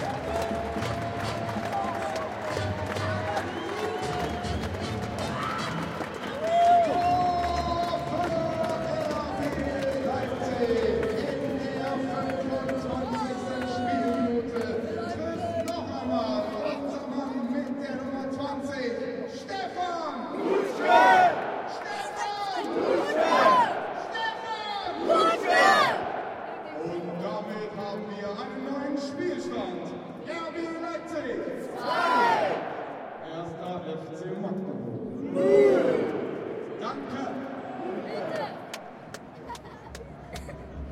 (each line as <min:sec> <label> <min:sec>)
0:00.0 spectators clapping and drumming rythmically 0:14.8
0:00.0 loud cheering 0:15.9
0:20.3 chanting 0:26.7
0:20.3 loud cheering 0:26.9
0:31.6 loud cheering 0:33.3
0:35.2 loud cheering 0:40.9
0:38.3 spectators clapping and drumming rythmically 0:40.7